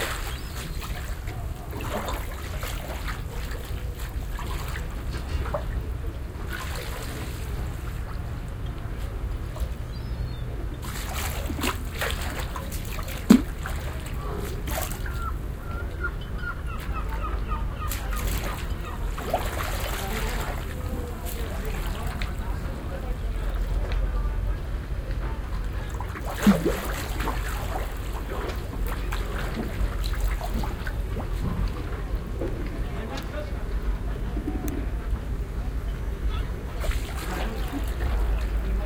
Sea 0.0 - 38.8

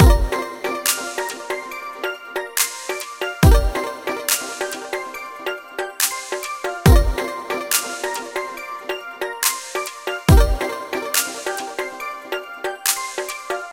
music 0.0 - 13.7

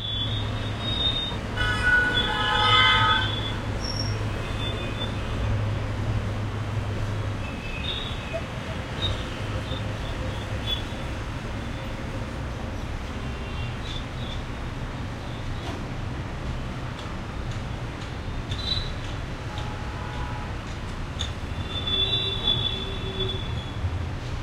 traffic 0.0 - 24.4

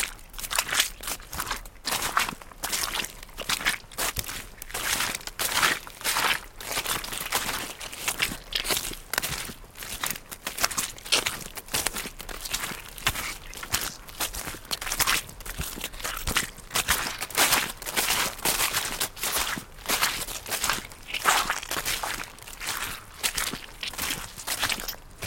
Steps with rubber boots on a wet field 0.0 - 25.2

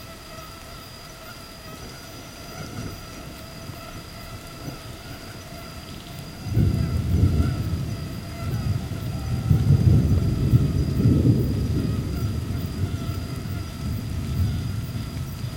Mosquitoes 0.0 - 15.5
light rain 0.0 - 15.5
thunderstorms 6.1 - 15.5

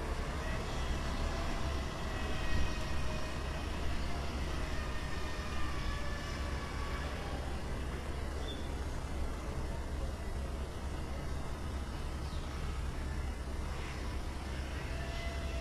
city rumble 0.0 - 15.6
trains going from and to the station 0.0 - 15.6
sparrows singing on the trees 8.2 - 15.6

